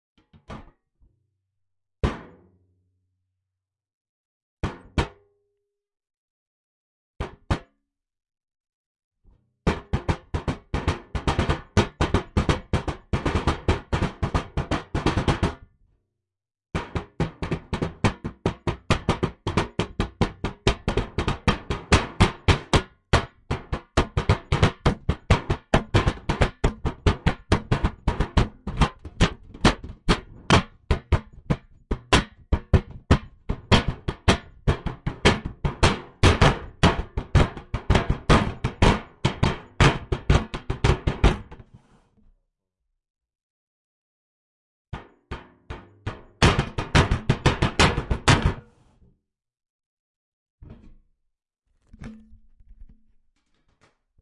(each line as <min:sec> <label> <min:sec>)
0:17.0 Bread Box Percussion 0:41.3